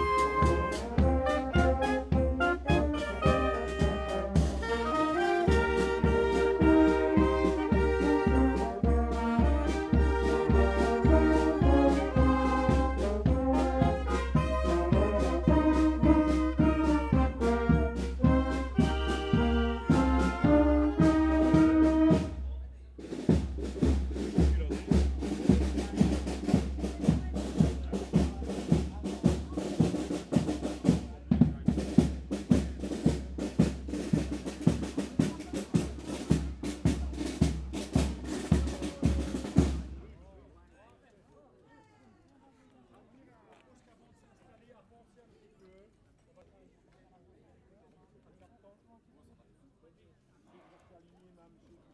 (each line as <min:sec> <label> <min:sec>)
0:00.0 fanfare is playing, walking in the streets 0:40.5